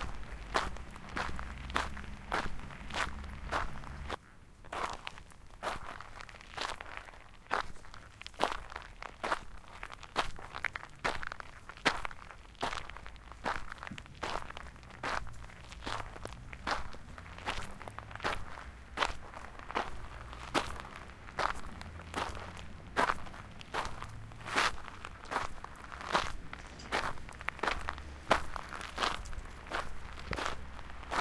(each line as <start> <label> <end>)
0.0 cars sound 4.2
0.0 FootStep Gravel 31.2
10.6 cars sound 31.2